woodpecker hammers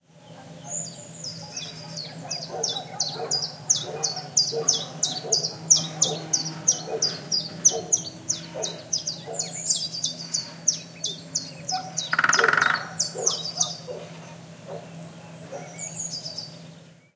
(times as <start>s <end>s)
11.7s 14.2s